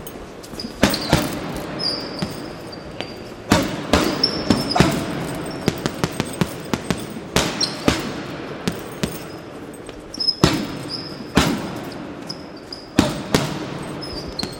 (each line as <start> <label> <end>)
0.8 boxer hits punching bag 2.5
3.5 boxer hits punching bag 9.4
10.4 boxer hits punching bag 12.2
12.9 boxer hits punching bag 14.5